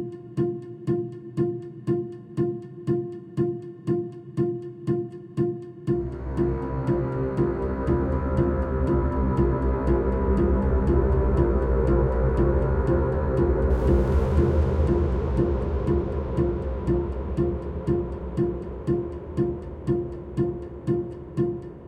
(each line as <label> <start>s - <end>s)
Orchestral Suspense Loop 0.0s - 21.8s